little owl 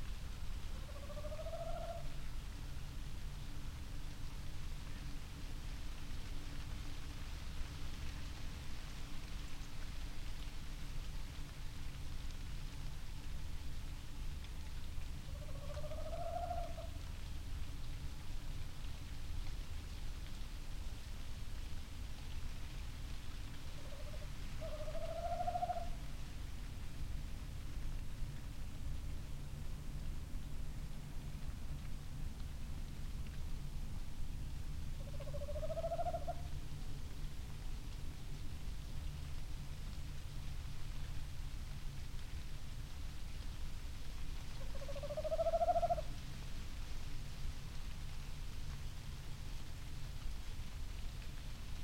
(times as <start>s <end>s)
0.6s 2.3s, 15.2s 17.1s, 23.6s 26.1s, 34.8s 36.6s, 44.5s 46.2s